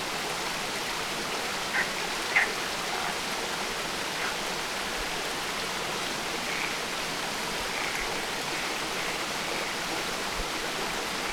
stream flow going in a very intricate way 0:00.0 - 0:11.3
croaking frogs 0:01.6 - 0:04.9
croaking frogs 0:05.9 - 0:11.3

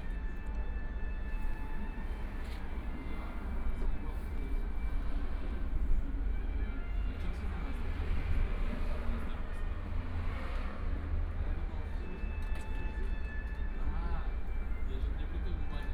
Traffic Sound 0:04.7 - 0:12.0

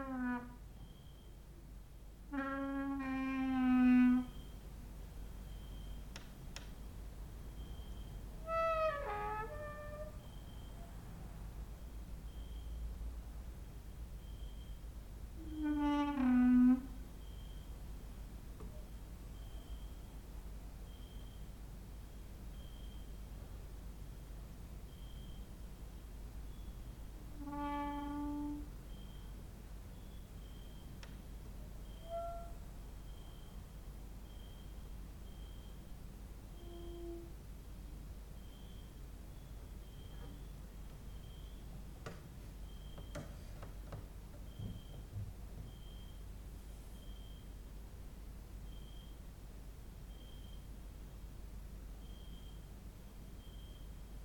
creaking with wooden doors 0:00.0 - 0:00.6
cricket outside 0:00.8 - 0:01.5
creaking with wooden doors 0:02.3 - 0:04.5
cricket outside 0:04.2 - 0:04.7
cricket outside 0:05.3 - 0:06.3
cricket outside 0:07.5 - 0:10.9
creaking with wooden doors 0:08.4 - 0:10.4
cricket outside 0:11.8 - 0:12.9
cricket outside 0:13.6 - 0:16.1
creaking with wooden doors 0:15.4 - 0:17.0
cricket outside 0:17.2 - 0:17.8
cricket outside 0:18.7 - 0:20.2
cricket outside 0:20.8 - 0:23.2
cricket outside 0:24.8 - 0:25.6
cricket outside 0:26.4 - 0:27.0
creaking with wooden doors 0:27.3 - 0:28.7
cricket outside 0:27.6 - 0:43.4
creaking with wooden doors 0:41.8 - 0:45.8
cricket outside 0:44.4 - 0:47.7
cricket outside 0:48.6 - 0:49.3
cricket outside 0:50.0 - 0:54.2

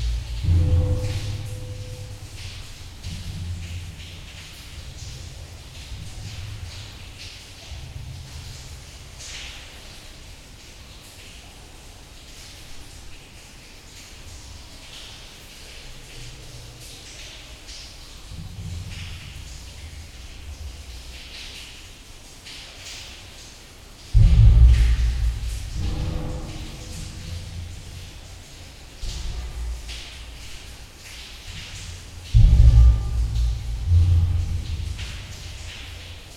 underground river 0:00.0 - 0:36.3

